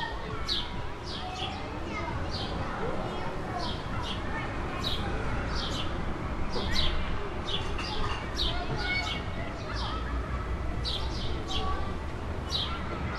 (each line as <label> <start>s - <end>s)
Childrens play 0.0s - 13.1s
Sparrows chirp 0.4s - 10.2s
Sparrows chirp 10.8s - 11.8s
Sparrows chirp 12.4s - 13.1s